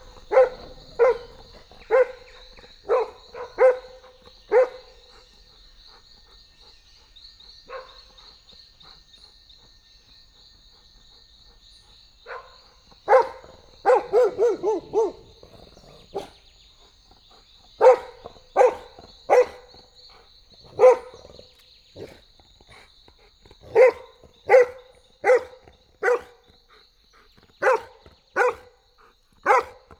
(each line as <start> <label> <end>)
0.0 street dog barking at me 5.0
12.3 street dog barking at me 16.4
13.3 growl 16.5
17.8 street dog barking at me 19.8
20.6 growl 26.5
20.6 street dog barking at me 21.4
23.6 street dog barking at me 26.4
27.6 street dog barking at me 28.8
29.4 street dog barking at me 29.9